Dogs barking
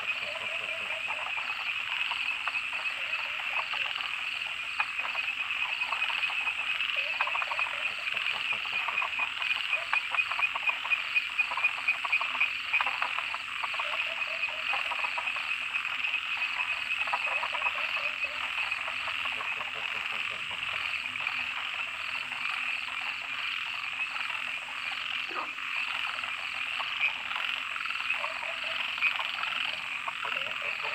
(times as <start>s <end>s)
28.2s 28.9s